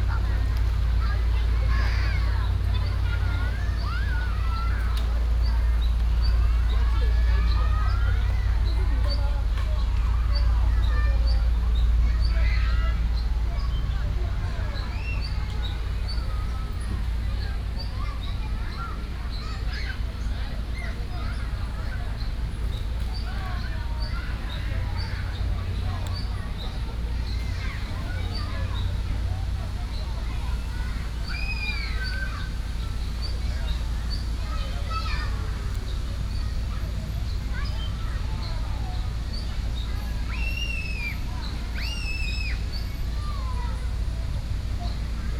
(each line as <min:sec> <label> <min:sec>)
0:00.0 Children play water area 0:45.3
0:00.0 birds sound 0:45.3